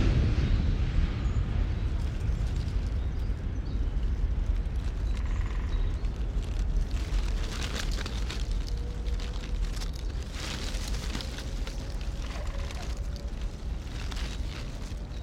longer close train rumbles and rattles past 0.0 - 6.7
Wind gust rustle the dry leaves 0.0 - 15.2
rain 0.0 - 15.2
traffic noise 1.2 - 15.2
Robins 3.1 - 15.2
woodpeckers 5.0 - 6.1
woodpeckers 7.6 - 14.9

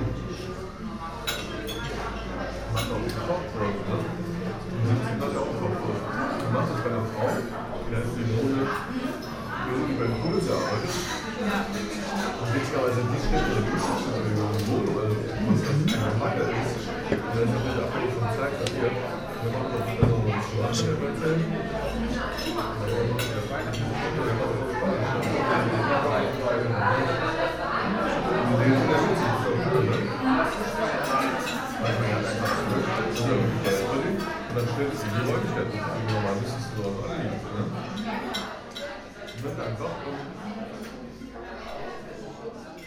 people 0.0 - 42.8

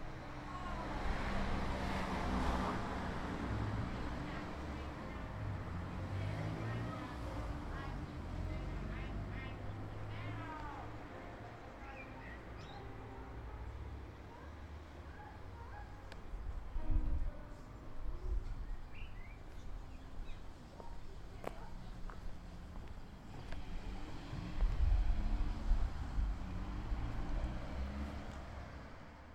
cars 0.0 - 29.3
Children waiting outside are chatting 0.3 - 2.2
Children waiting outside are chatting 2.8 - 25.0
piano melody 9.6 - 20.7

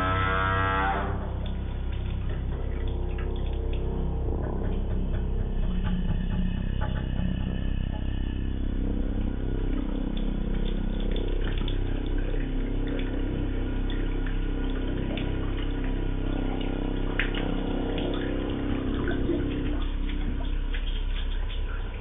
water heater 0.0 - 22.0

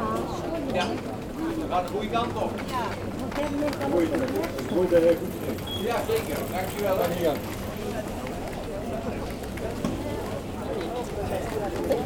People walking quietly 0.0 - 12.0

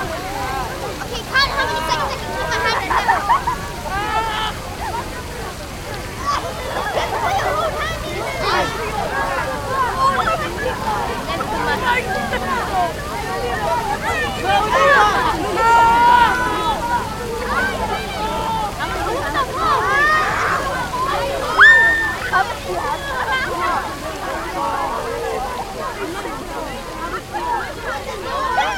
fountain 0.0 - 28.7

